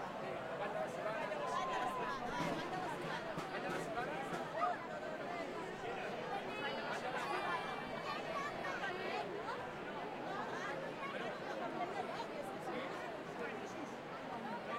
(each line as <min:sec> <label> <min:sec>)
0:00.0 crowd 0:14.7